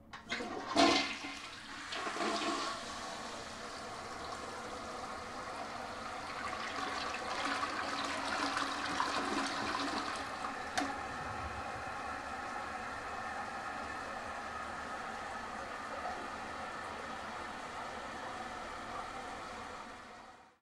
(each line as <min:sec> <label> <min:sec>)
0:00.0 toilet-flush 0:20.6